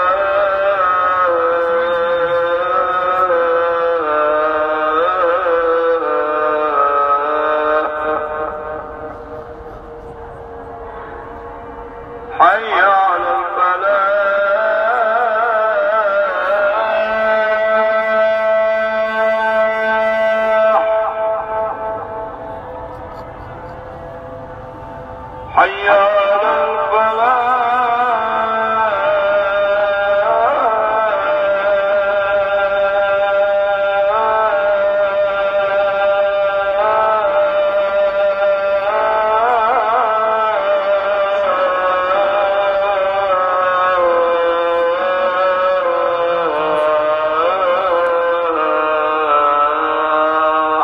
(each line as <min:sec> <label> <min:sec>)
0:00.0 Call to prayer 0:50.8